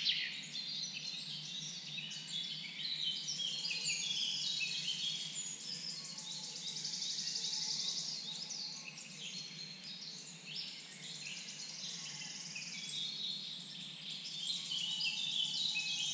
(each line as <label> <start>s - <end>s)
Birds 0.0s - 16.1s